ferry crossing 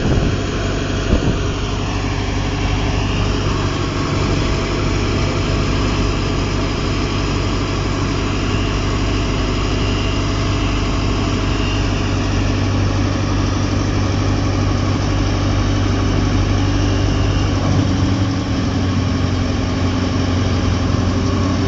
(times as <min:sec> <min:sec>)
0:17.2 0:21.6